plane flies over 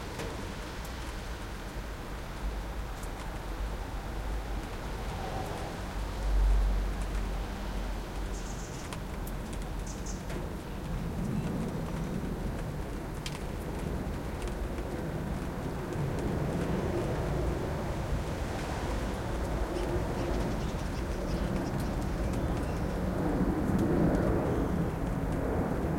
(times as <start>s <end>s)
10.3s 25.9s